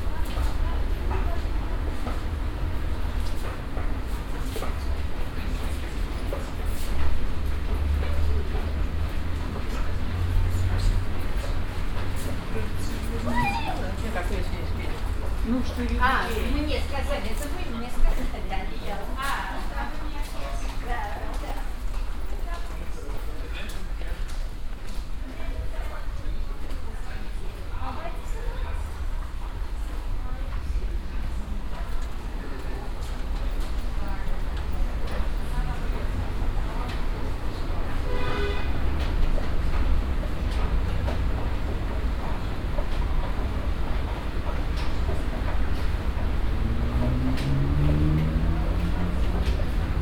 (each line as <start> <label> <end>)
0.0 people 50.0
0.3 moving staircases 19.0
38.7 moving staircases 50.0